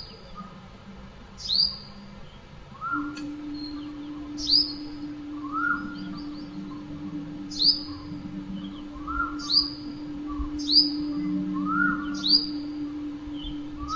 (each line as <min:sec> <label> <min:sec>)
0:01.4 cuckoo 0:13.9
0:03.0 indistinct conversations 0:13.9